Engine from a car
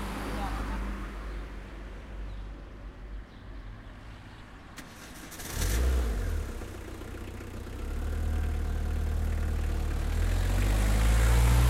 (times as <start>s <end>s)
4.8s 11.6s